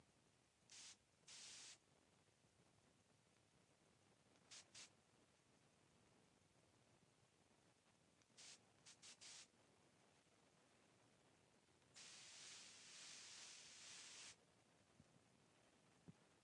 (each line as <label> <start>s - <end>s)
air freshener spray 0.7s - 1.8s
air freshener spray 4.5s - 4.9s
air freshener spray 8.4s - 9.5s
air freshener spray 12.0s - 14.4s